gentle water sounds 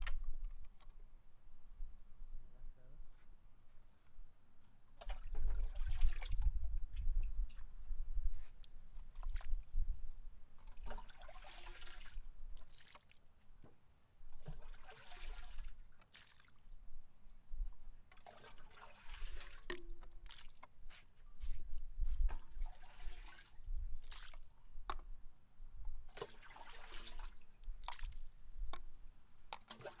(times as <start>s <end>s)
4.9s 7.8s, 8.4s 13.4s, 14.3s 17.0s, 18.1s 20.9s, 22.2s 25.0s, 26.1s 28.6s, 29.6s 30.0s